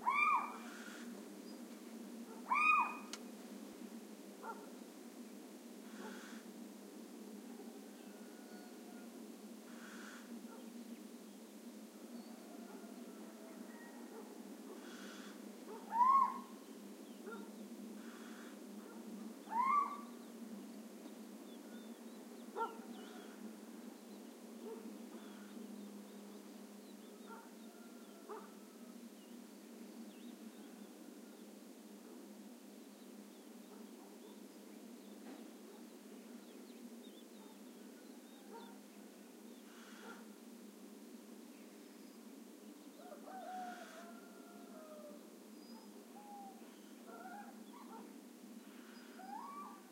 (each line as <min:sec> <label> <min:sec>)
0:00.0 diurnal birds 0:03.3
0:00.0 close callings from a Little Owl 0:01.1
0:00.0 distant callings from a Barn Owl 0:01.2
0:02.3 distant callings from a Barn Owl 0:03.2
0:02.4 close callings from a Little Owl 0:03.2
0:04.4 diurnal birds 0:49.9
0:05.9 close callings from a Little Owl 0:06.5
0:05.9 distant callings from a Barn Owl 0:06.5
0:08.0 distant callings from a Barn Owl 0:09.1
0:09.7 close callings from a Little Owl 0:10.3
0:09.7 distant callings from a Barn Owl 0:10.7
0:12.2 distant callings from a Barn Owl 0:16.6
0:14.8 close callings from a Little Owl 0:16.6
0:17.2 distant callings from a Barn Owl 0:20.3
0:17.3 close callings from a Little Owl 0:18.6
0:19.5 close callings from a Little Owl 0:20.2
0:22.6 barking dogs 0:22.8
0:22.6 distant callings from a Barn Owl 0:23.5
0:24.6 distant callings from a Barn Owl 0:25.6
0:27.0 distant callings from a Barn Owl 0:28.9
0:27.3 barking dogs 0:27.5
0:38.2 distant callings from a Barn Owl 0:38.8
0:39.7 close callings from a Little Owl 0:40.2
0:39.7 distant callings from a Barn Owl 0:40.4
0:43.0 distant callings from a Barn Owl 0:49.9
0:45.7 close callings from a Little Owl 0:48.0
0:47.1 barking dogs 0:48.1
0:48.7 close callings from a Little Owl 0:49.9